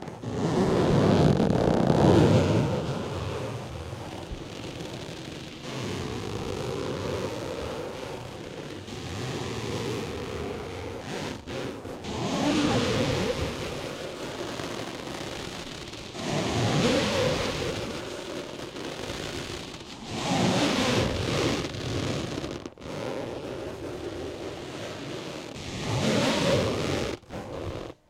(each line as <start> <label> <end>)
0.0 squeezed gym plastic ball 28.0